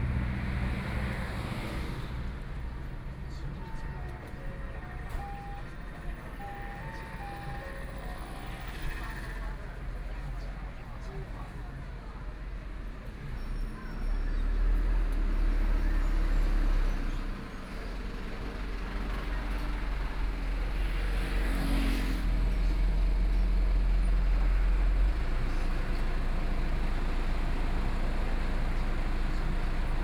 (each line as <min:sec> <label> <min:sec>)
0:00.0 Traffic Sound 0:30.0